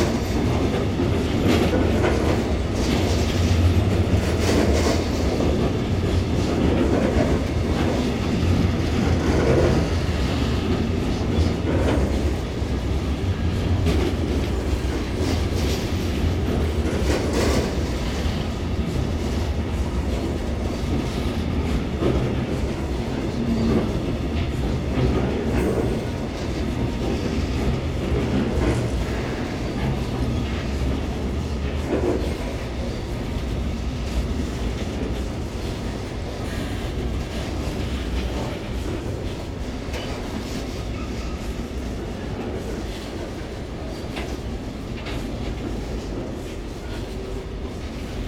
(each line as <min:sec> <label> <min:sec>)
0:00.0 Freight train 0:48.2
0:00.0 passenger train 0:48.2